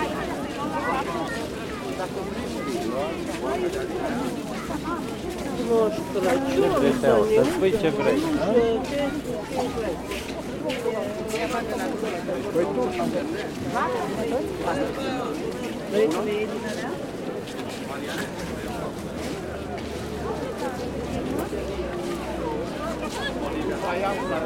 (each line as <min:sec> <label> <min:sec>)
0:00.0 many people 0:24.4